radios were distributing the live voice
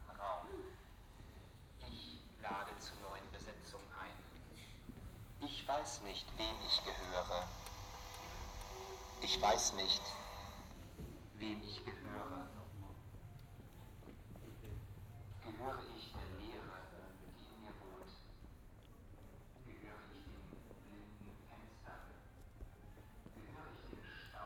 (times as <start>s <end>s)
5.4s 13.8s, 23.3s 24.4s